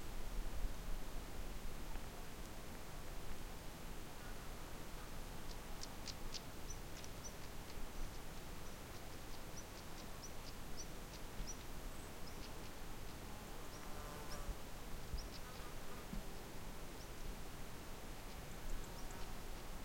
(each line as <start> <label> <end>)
0.0 wind 19.8
15.1 bird 15.8